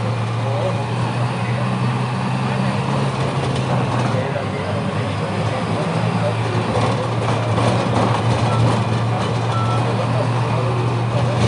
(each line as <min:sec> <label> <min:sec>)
0:00.0 Motos 0:11.4
0:00.0 avisos publicitarios 0:11.4